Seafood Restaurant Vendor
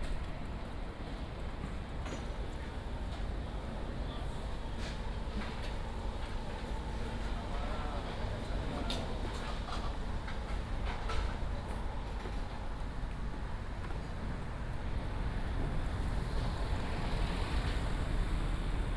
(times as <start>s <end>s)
2.2s 12.6s